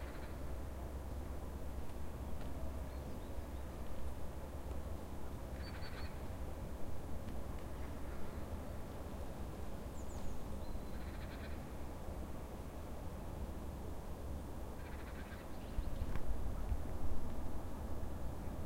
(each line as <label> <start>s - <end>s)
bird 5.6s - 6.2s
bird 10.0s - 11.6s
bird 14.8s - 16.2s